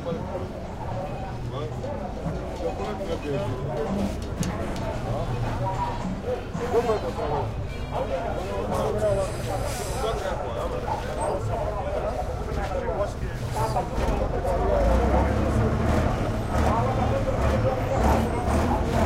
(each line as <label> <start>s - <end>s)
buses 0.0s - 19.0s
voices 0.0s - 19.0s